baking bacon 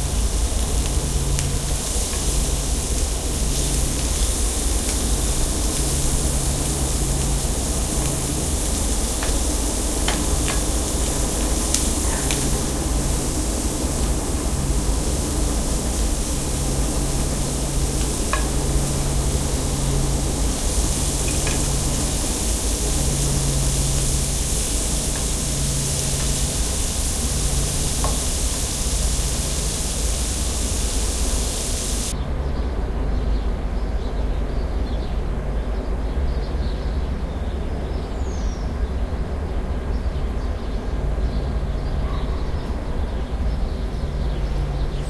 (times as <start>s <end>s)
0.0s 32.1s